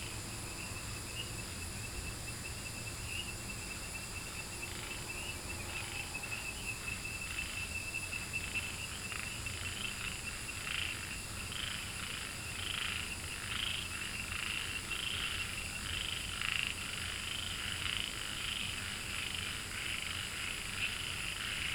Frogs chirping 0.0 - 21.7

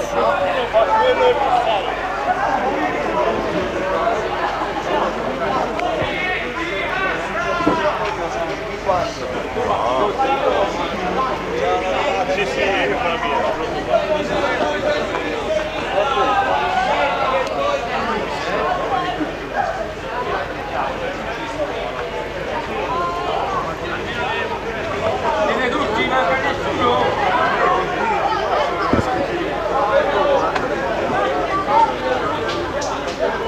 people are gathered 0.0 - 33.4

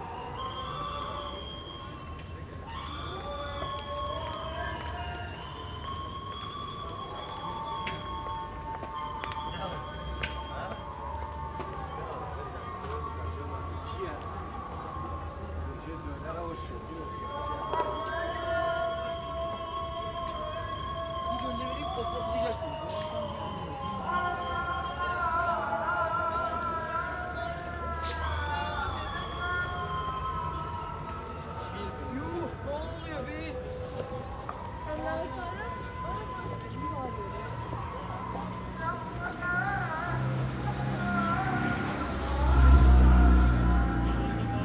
noisy flute sound 0.0 - 44.6

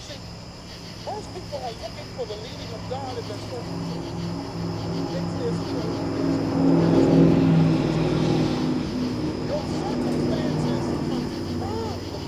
cicadas 0.0 - 12.2
traffic 0.0 - 12.2

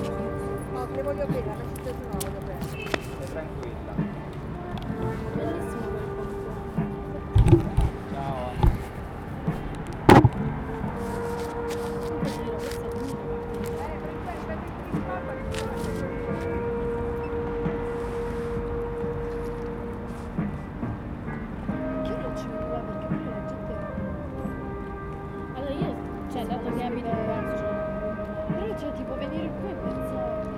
Conversation 0.0 - 20.6
Conversation 21.6 - 30.5

